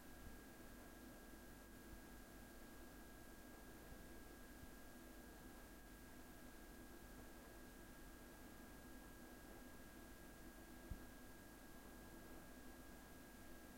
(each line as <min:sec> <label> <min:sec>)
0:00.0 background hum of a refrigerator 0:13.7